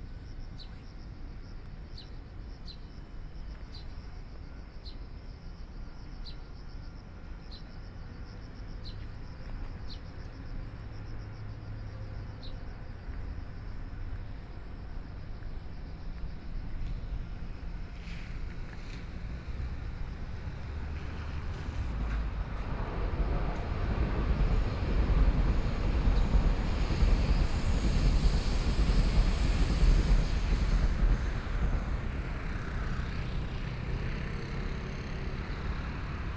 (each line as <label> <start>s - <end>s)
Trains traveling through 10.6s - 36.3s
Traffic Sound 17.6s - 36.3s